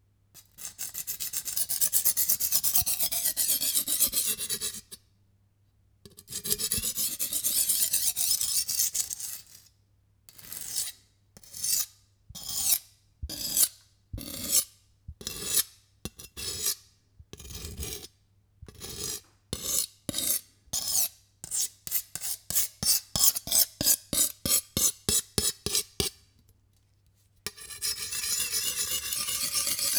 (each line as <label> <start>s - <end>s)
Sharpening a knife with a old laguiole sharpening stone 27.5s - 29.9s